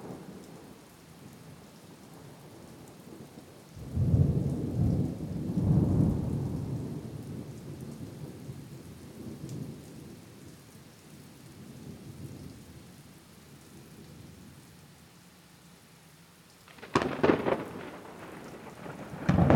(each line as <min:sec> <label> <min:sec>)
0:00.0 rain 0:19.5
0:03.8 thunder 0:08.4
0:16.7 thunder 0:19.5